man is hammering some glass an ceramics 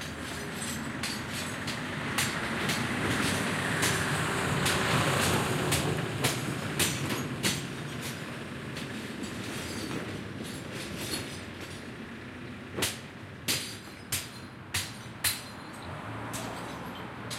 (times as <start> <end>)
0.0 4.0, 5.7 7.6, 12.8 17.3